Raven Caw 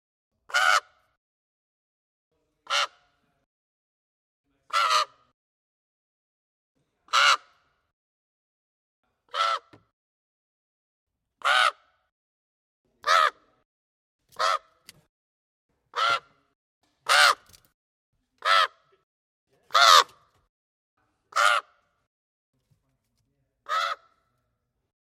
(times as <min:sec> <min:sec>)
0:00.5 0:01.1, 0:02.7 0:03.1, 0:04.7 0:05.3, 0:07.1 0:07.8, 0:09.3 0:09.9, 0:11.4 0:12.1, 0:13.0 0:13.6, 0:14.4 0:14.8, 0:15.9 0:17.6, 0:18.4 0:19.0, 0:19.7 0:20.3, 0:21.3 0:21.8, 0:23.6 0:24.3